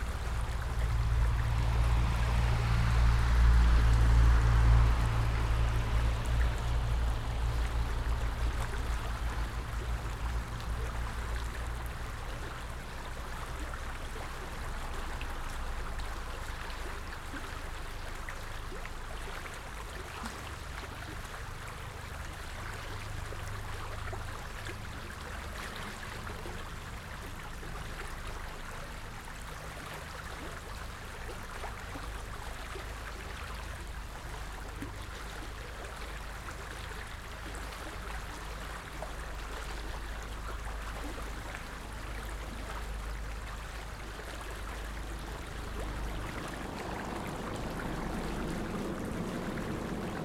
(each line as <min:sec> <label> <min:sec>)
0:00.0 car engine passes by 0:12.3
0:00.0 Gentle splashes and laps of the stream 0:50.2
0:36.3 car engine passes by 0:50.2
0:39.4 Helicopter engine appearing in the left channel 0:50.2